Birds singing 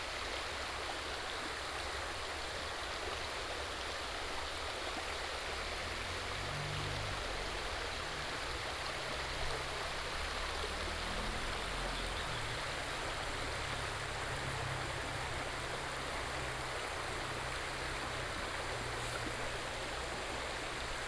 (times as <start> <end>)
11.5 13.4